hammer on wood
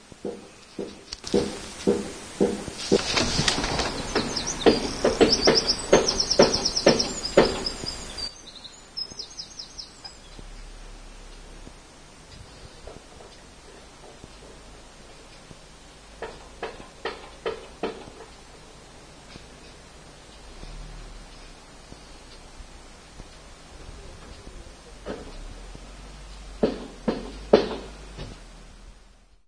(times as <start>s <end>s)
0.2s 3.0s, 4.2s 8.0s, 16.2s 18.3s, 26.6s 28.3s